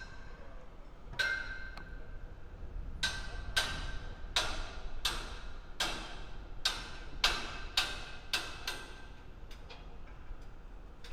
Hammering metal 0:03.0 - 0:09.0

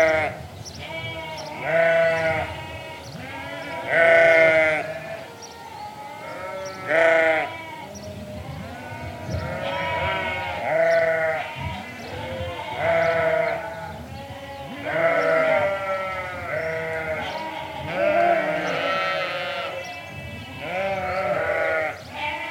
windy 0:00.0 - 0:22.4
Sheep all baaing 0:00.0 - 0:22.5
sparrows 0:00.0 - 0:22.5

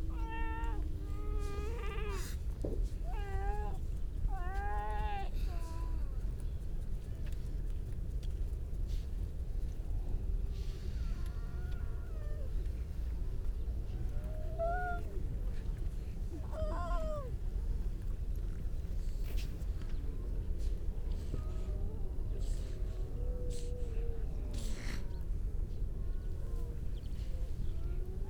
grey seals 0:00.0 - 0:06.0
grey seals 0:10.3 - 0:28.2

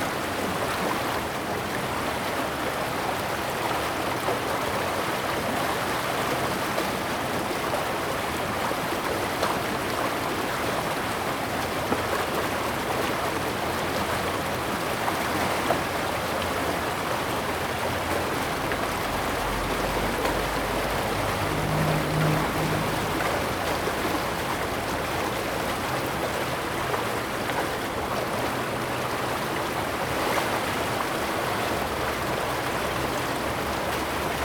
Agricultural irrigation channel, Water sound 0:00.0 - 0:34.4

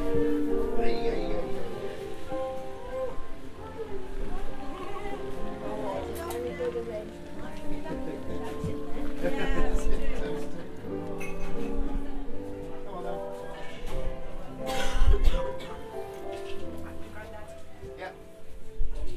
general hub-bub of people buying produce 0:00.0 - 0:19.1

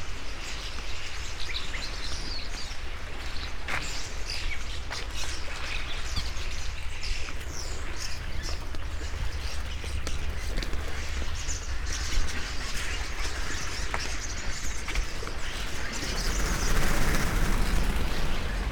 thousands of birds overnighting on old pine trees 0:00.0 - 0:18.7
air conditioners 0:06.0 - 0:18.7

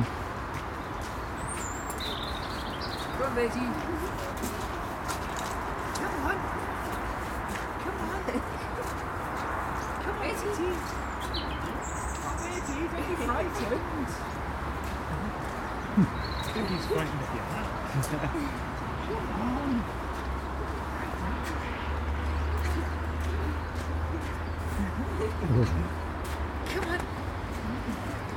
Treetop starlings call 0:00.8 - 0:03.8
Treetop starlings call 0:10.8 - 0:13.7

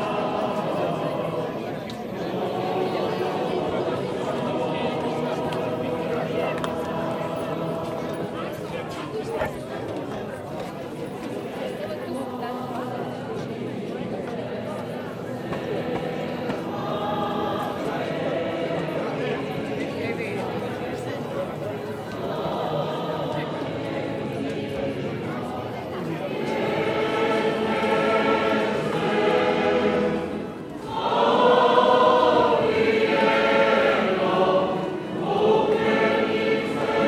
voices in the porch 0:00.0 - 0:37.0
singing inside 0:25.8 - 0:37.0

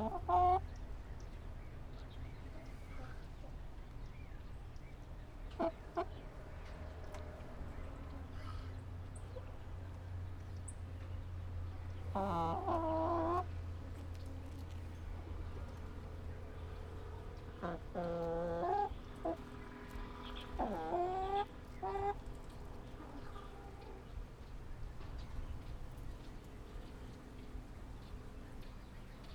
Chicken sounds 0:00.0 - 0:00.7
Chicken sounds 0:05.5 - 0:06.4
Chicken sounds 0:11.8 - 0:14.7
Chicken sounds 0:15.3 - 0:24.6

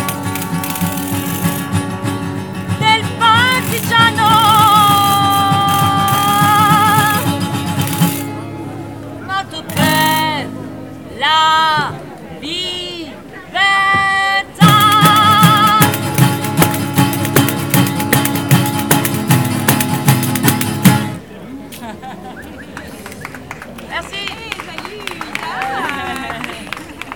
play live Bella Ciao 0:00.0 - 0:13.0
play live Bella Ciao 0:13.6 - 0:21.2

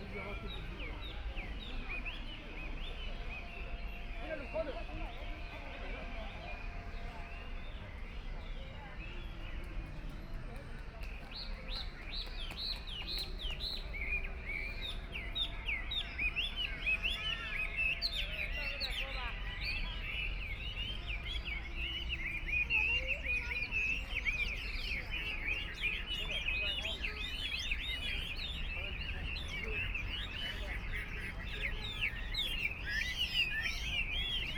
Birdcage birds chirping 0:12.6 - 0:34.5

